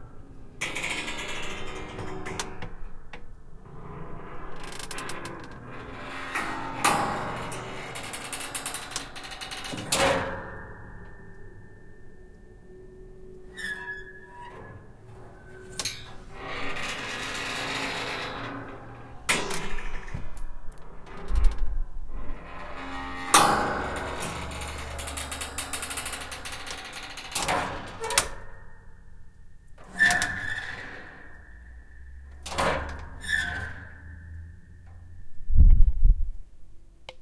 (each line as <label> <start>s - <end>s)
Attic door creaking 0.6s - 35.5s